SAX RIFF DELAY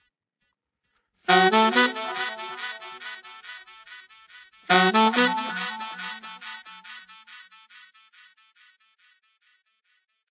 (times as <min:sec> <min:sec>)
0:01.3 0:04.0, 0:04.7 0:07.4